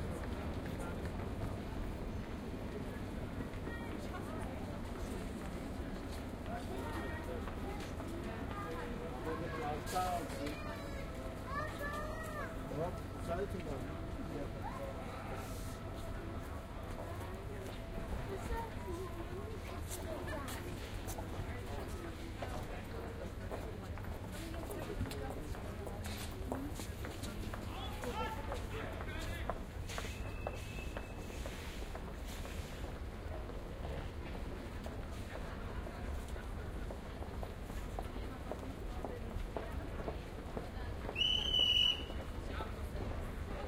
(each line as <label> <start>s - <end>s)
train 0.0s - 43.6s